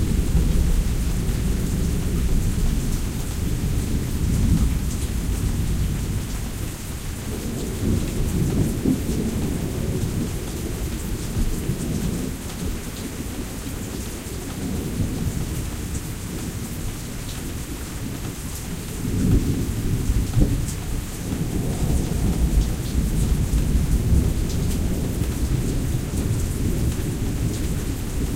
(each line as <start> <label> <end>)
0.0 Heavy-Thunder 12.9
18.8 Heavy-Thunder 28.3